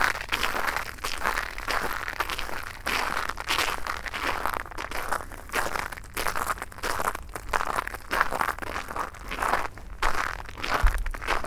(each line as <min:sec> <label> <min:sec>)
0:00.0 Walking in the black ice 0:11.4